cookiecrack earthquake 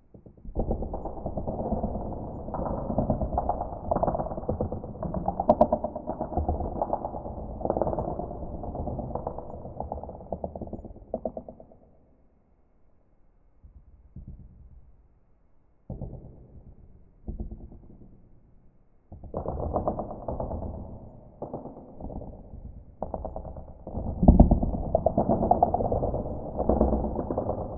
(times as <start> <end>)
0.1 11.6, 19.2 27.7